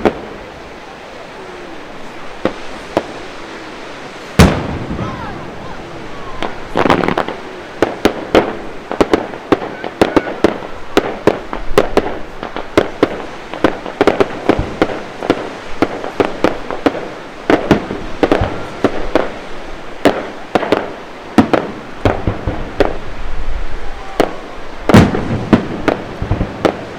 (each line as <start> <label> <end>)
0.0 Waves on the beach 26.9
0.0 firework display 26.9
9.0 crowds 11.6
23.6 crowds 25.0